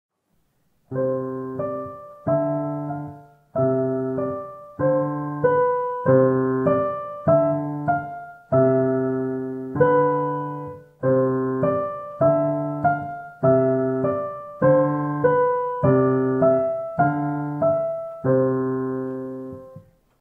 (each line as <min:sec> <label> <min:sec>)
0:00.2 piano 0:20.2